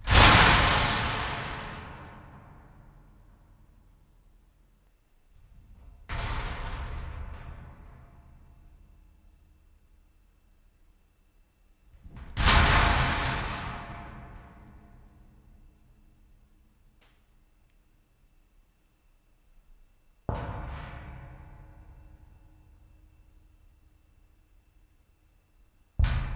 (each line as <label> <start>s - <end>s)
metal locker thuds rattle1 0.0s - 2.6s
metal locker thuds rattle1 26.0s - 26.3s